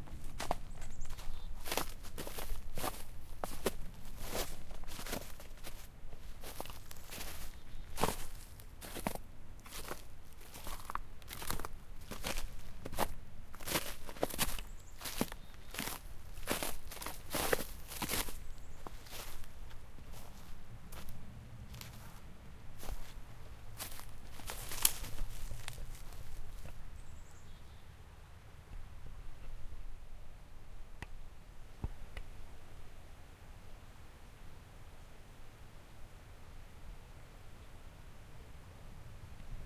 walk through the snow 0.0 - 27.2
branches 0.3 - 22.2
branches 22.8 - 26.8

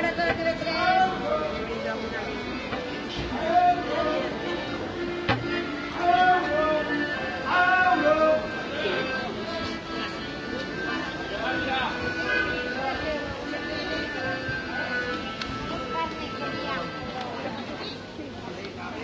people 0.0 - 19.0

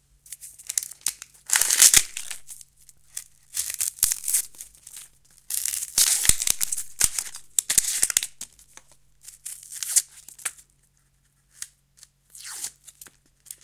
Peling Onions 0.6 - 10.0

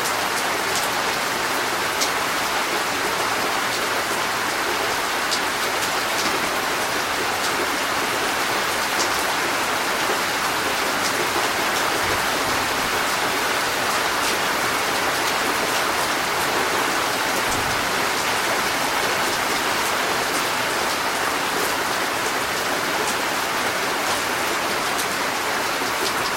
heavy rain storm 0.0 - 26.3

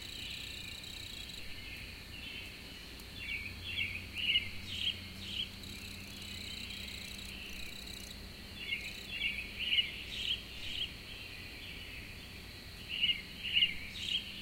his wings stridulating 0.0 - 2.6
Spring birds 0.0 - 12.0
his wings stridulating 4.4 - 9.3

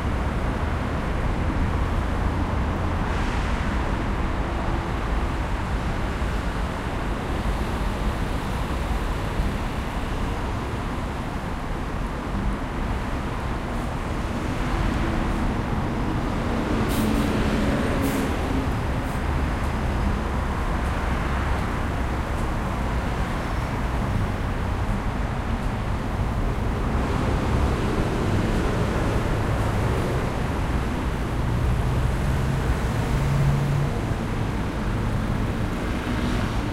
Traffic 0.0 - 36.7

